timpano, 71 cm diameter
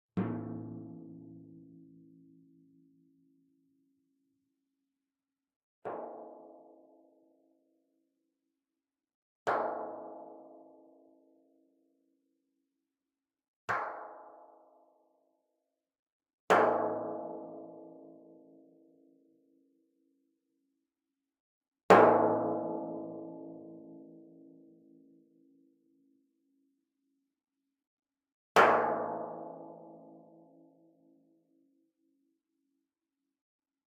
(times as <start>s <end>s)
0.2s 2.8s